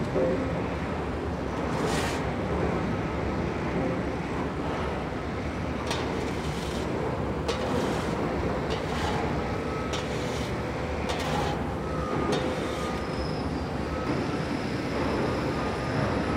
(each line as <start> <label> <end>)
1.6 two men were shoveling refuse off a concrete platform 2.4
5.8 two men were shoveling refuse off a concrete platform 13.4